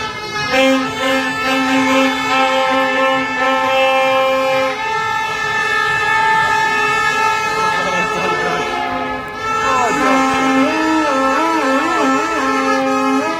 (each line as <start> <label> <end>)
0.0 vuvuzela 13.3